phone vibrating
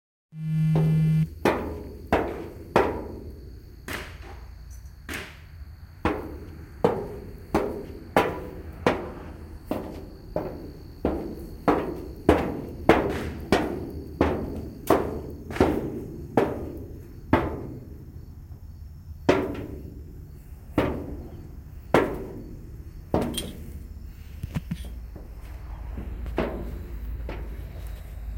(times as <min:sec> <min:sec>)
0:00.4 0:01.3